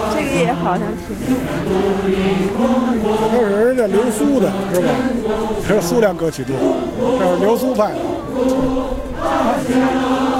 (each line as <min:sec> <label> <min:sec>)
0:00.0 about 30 people singing in a group 0:10.3